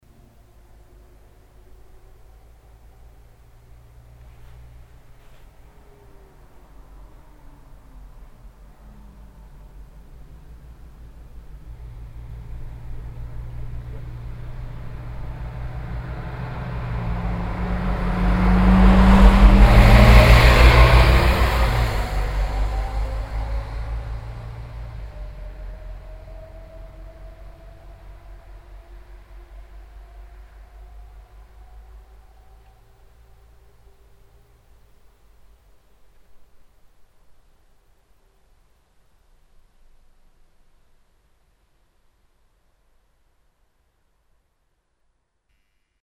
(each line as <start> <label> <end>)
0.0 bus 36.6